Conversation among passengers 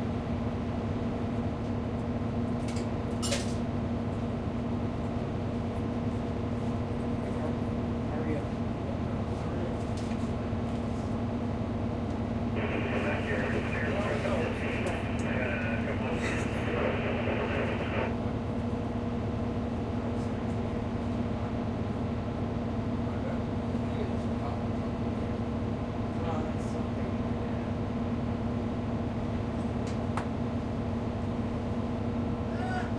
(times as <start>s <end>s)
7.1s 10.4s, 12.4s 18.1s